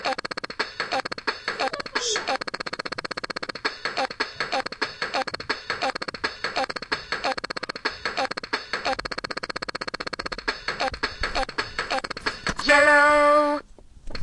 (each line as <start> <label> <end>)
0.0 toy 12.5